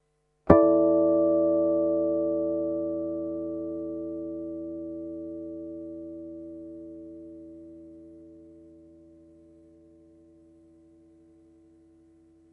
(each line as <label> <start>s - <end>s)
guitar 0.5s - 12.5s